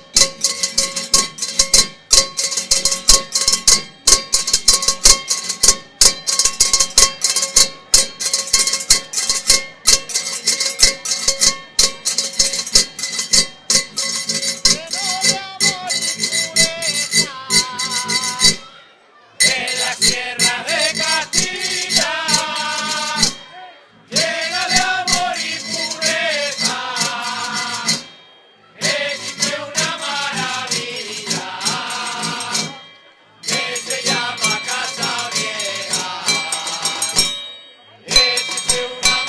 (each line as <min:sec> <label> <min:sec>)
0:00.0 calderillo 0:18.8
0:00.0 zambomba 0:39.2
0:19.4 calderillo 0:39.2
0:19.4 voz 0:39.2